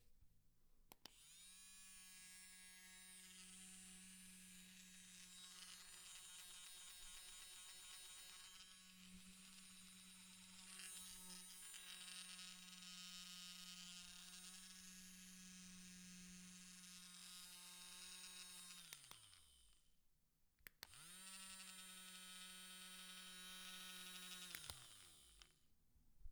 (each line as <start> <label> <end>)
4.3 milk frother spinning 15.2
21.0 milk frother spinning 25.5